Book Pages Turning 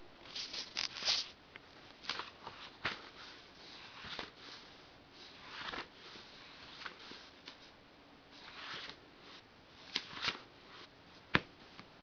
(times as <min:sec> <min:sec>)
0:00.3 0:01.3, 0:02.0 0:04.6, 0:05.2 0:07.7, 0:08.4 0:09.0, 0:09.9 0:11.5